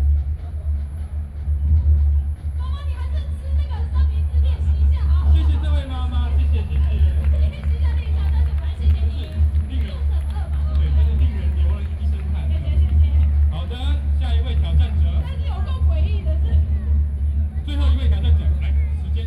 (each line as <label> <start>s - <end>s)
Distant drums 0.0s - 19.2s